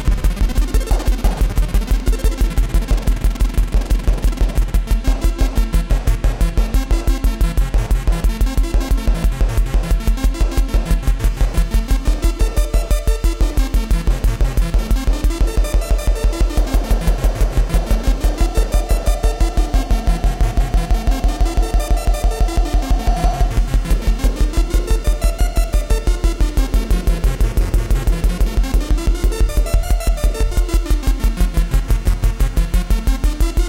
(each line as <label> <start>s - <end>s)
analogue synths 0.4s - 32.7s
beat 0.4s - 31.2s